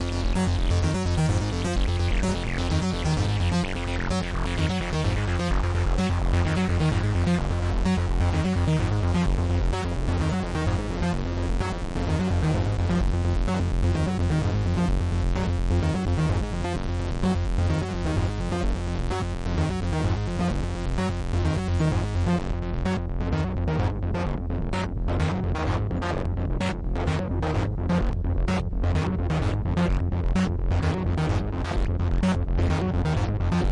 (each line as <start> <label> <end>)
0.0 Acid BASS 33.7